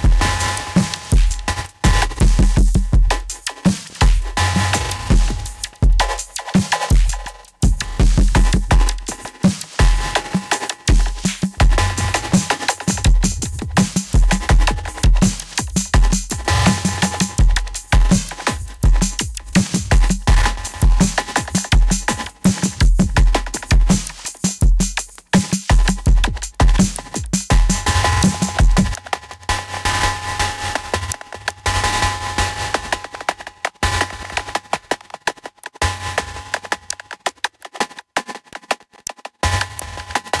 Drum Loop 0.0 - 29.2
Drum Loop 32.8 - 40.4

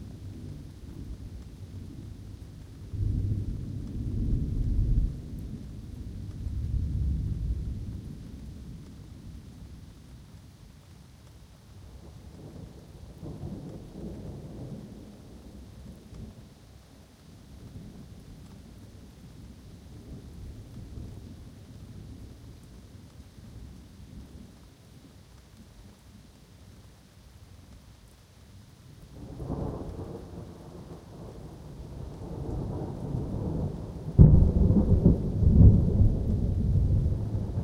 rain 0.0 - 37.6
wind 0.0 - 37.6
thunder 2.8 - 8.9
thunder 29.2 - 37.6

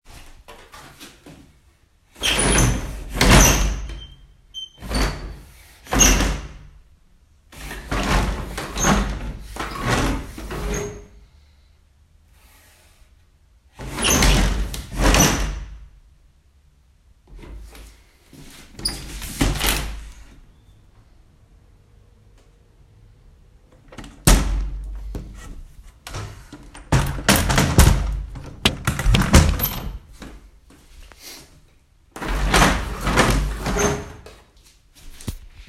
opening and closing wooden blinds 0.1 - 6.7
opening and closing wooden blinds 7.5 - 11.1
opening and closing wooden blinds 13.7 - 15.8
opening and closing wooden blinds 17.3 - 20.4
opening and closing wooden blinds 23.7 - 30.4
opening and closing wooden blinds 32.1 - 35.6

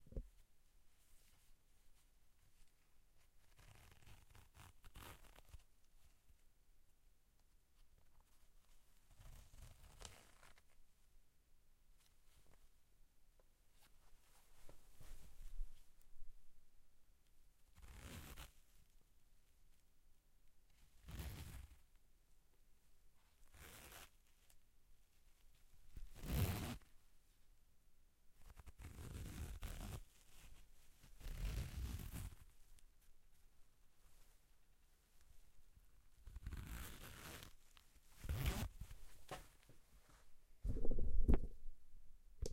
zipper of my pants 21.0 - 21.8
zipper of my pants 23.5 - 24.1
zipper of my pants 26.2 - 26.8
zipper of my pants 28.6 - 30.0
zipper of my pants 31.2 - 32.4
zipper of my pants 36.3 - 37.6
zipper of my pants 38.2 - 38.8

